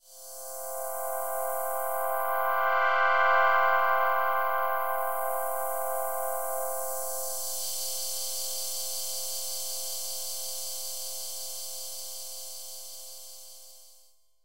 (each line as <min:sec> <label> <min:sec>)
0:00.0 warm sweaping pad with double filter 0:13.8